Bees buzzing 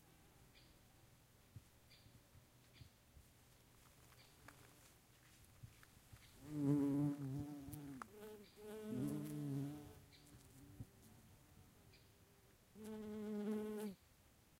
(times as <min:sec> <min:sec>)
0:06.4 0:10.8